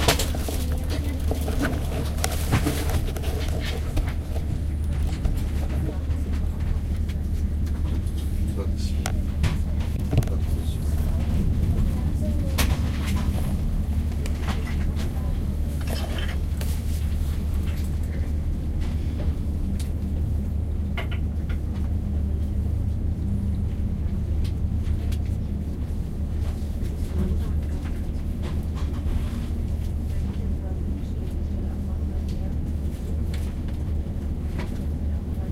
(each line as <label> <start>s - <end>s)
train ride 0.0s - 35.5s